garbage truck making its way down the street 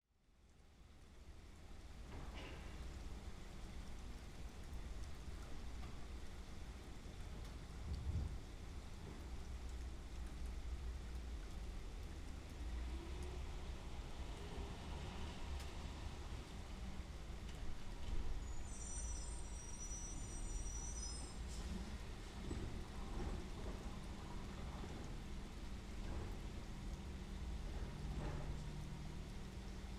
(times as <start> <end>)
12.9 29.9